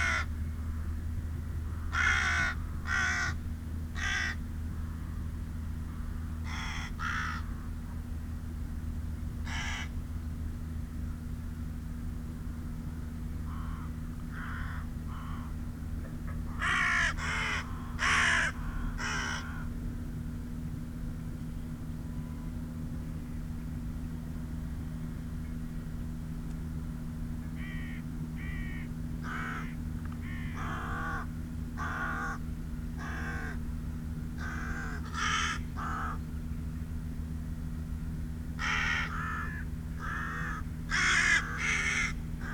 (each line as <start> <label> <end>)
0.0 carrion crow 0.3
1.9 carrion crow 3.4
4.0 carrion crow 4.4
6.5 carrion crow 7.5
9.5 carrion crow 9.9
16.6 carrion crow 19.7
27.6 carrion crow 32.4
34.4 carrion crow 36.2
38.6 carrion crow 42.5